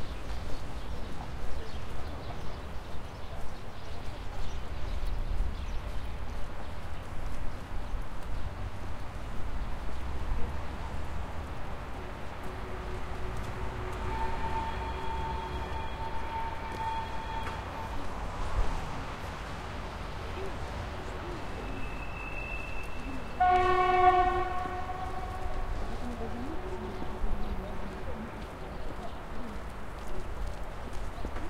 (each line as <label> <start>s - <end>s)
street noise 0.0s - 31.4s
Freight train leaves 11.6s - 29.4s
Train whistle 12.4s - 18.1s
Train whistle 21.6s - 25.9s